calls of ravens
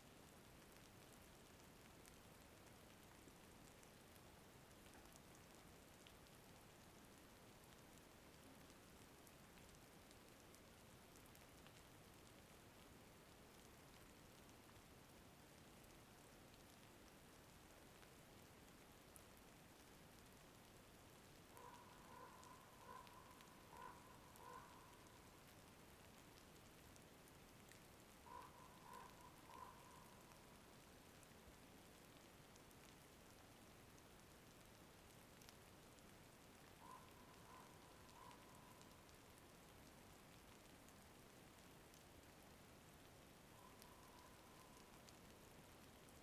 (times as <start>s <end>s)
21.6s 25.2s, 28.2s 30.3s, 36.8s 38.9s